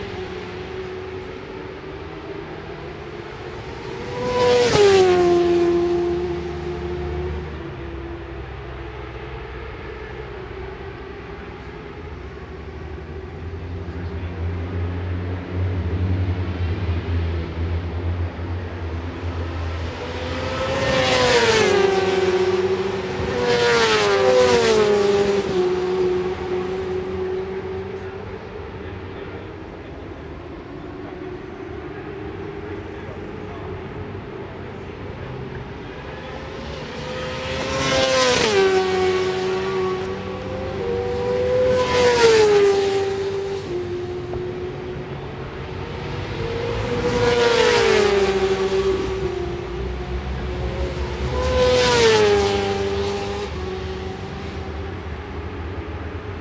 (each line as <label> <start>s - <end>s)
Supersports 600s 0.1s - 56.4s